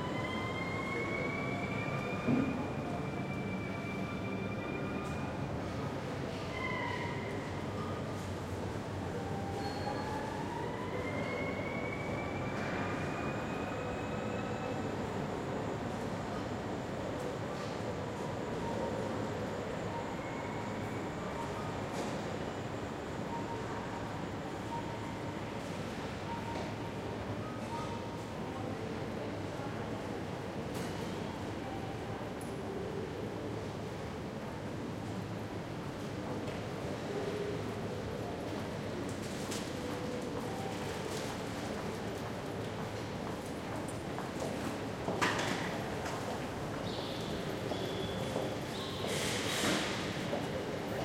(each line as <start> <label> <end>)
0.0 arriving train is announced on the PA system 35.8
0.0 Trains can be heard arriving and leaving 51.0